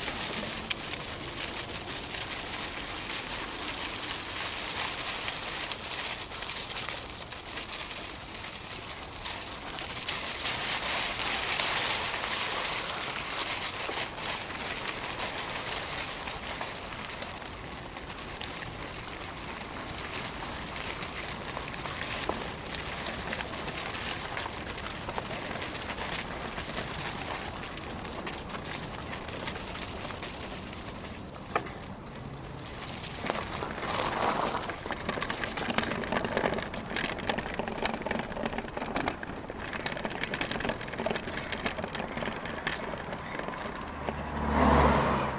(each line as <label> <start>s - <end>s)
Driving by bike in the dead leaves 0.0s - 45.3s
wind 0.0s - 45.3s
cars 41.3s - 45.3s